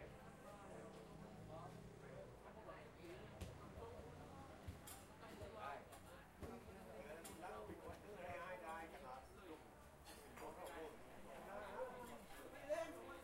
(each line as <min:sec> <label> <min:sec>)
0:00.0 customers all around 0:13.2